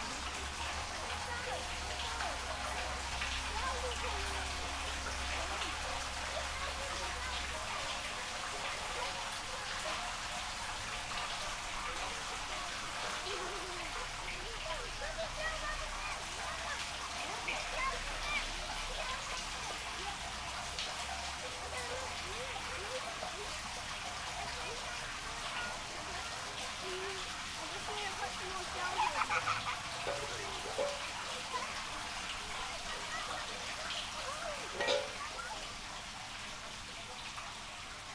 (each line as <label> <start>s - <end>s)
Kids playing with water pump, auger, metal dams 0.0s - 38.1s